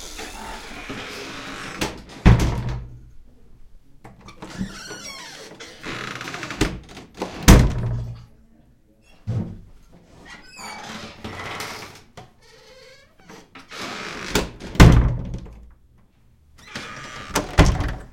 0.4s wood door old rattly open close creak 2.9s
4.2s wood door old rattly open close creak 8.1s
10.4s wood door old rattly open close creak 15.6s
16.6s wood door old rattly open close creak 18.1s

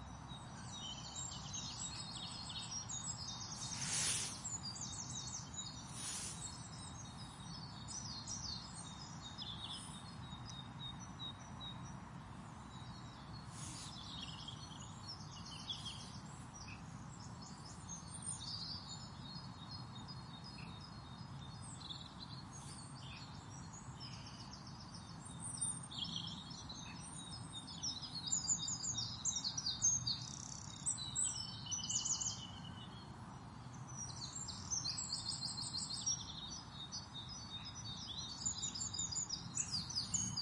0.0s Birdsong 40.4s

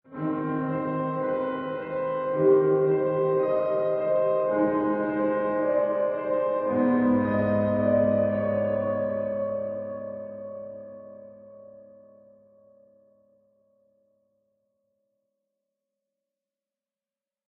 0.0s piano 13.6s

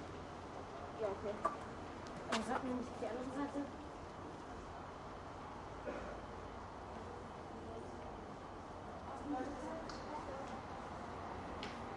2.2s German and Turkish people talking 3.8s

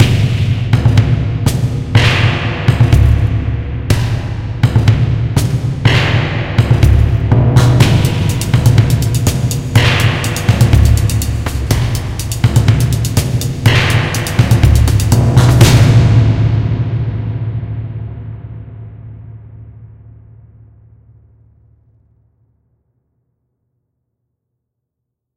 0.0s hihats 16.1s

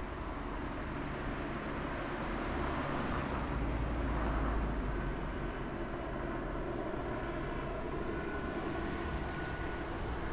0.0s bus 10.3s
0.0s helicopter 10.3s
0.0s traffic 10.3s

